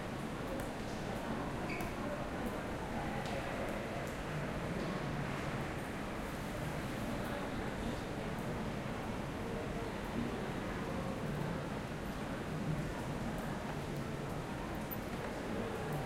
people chatting and walking by 0:00.0 - 0:16.0
rain 0:00.0 - 0:16.0

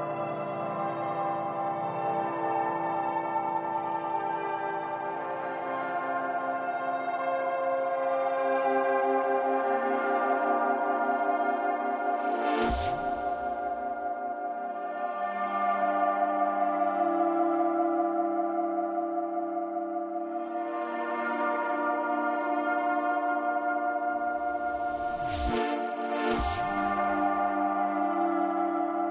background music 0:00.0 - 0:29.1

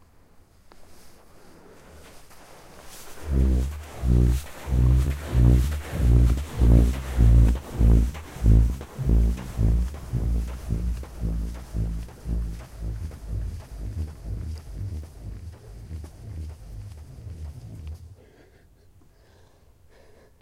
Singing sand dune 0:01.1 - 0:18.3

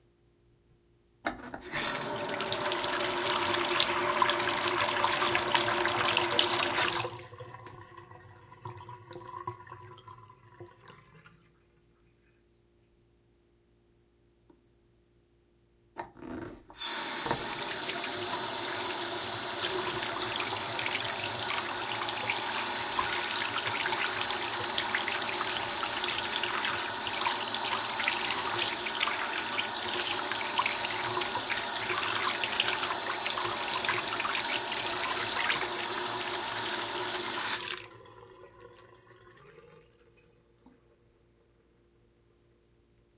Porcelain bathroom sink running 0:01.6 - 0:11.2
Porcelain bathroom sink running 0:16.7 - 0:39.9
washing hands 0:16.8 - 0:37.8

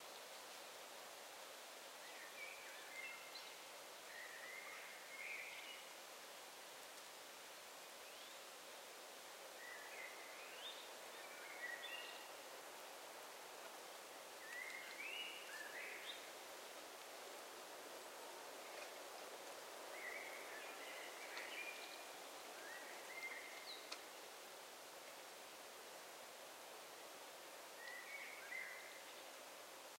singing birds 0:14.4 - 0:16.3
singing birds 0:27.8 - 0:29.2

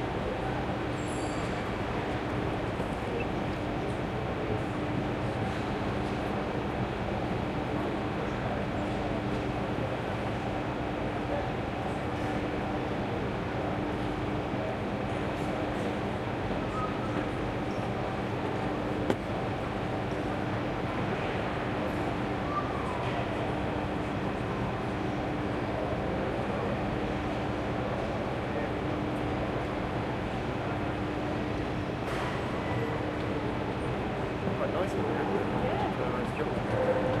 train 0:00.0 - 0:37.2

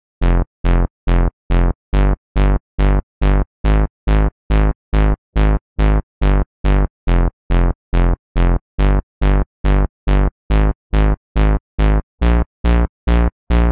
trance bass 0:00.2 - 0:13.7

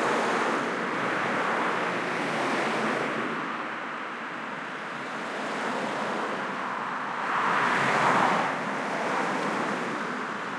stop and go traffic 0:00.0 - 0:10.5

